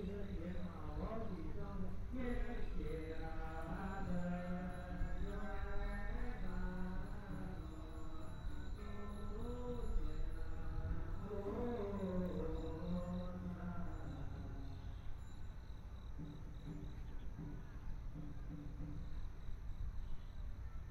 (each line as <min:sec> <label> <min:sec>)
0:00.0 Temple chanting voices 0:15.2
0:00.0 Birds singing 0:19.0